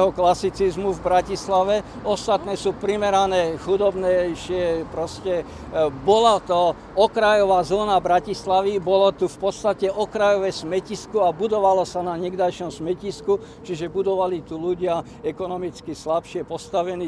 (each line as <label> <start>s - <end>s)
talk about local neighbourhood 0.0s - 17.0s